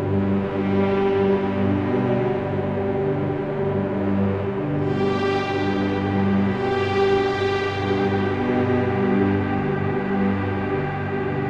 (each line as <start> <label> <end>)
0.0 keyboard 11.4